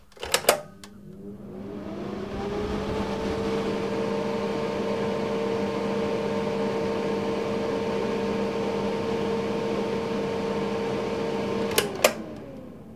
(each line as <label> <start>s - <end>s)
Extractor Fan 02 0.0s - 12.9s